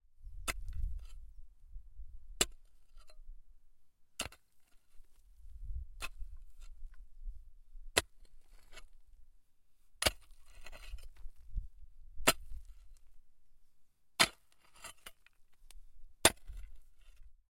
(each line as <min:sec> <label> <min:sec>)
0:04.2 pickaxe 0:04.4
0:10.0 pickaxe 0:11.2
0:12.2 pickaxe 0:12.8
0:14.2 pickaxe 0:15.3
0:16.2 pickaxe 0:17.2